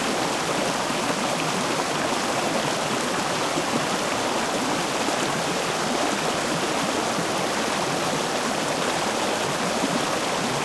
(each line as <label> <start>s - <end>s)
strong river gurgling 0.0s - 10.6s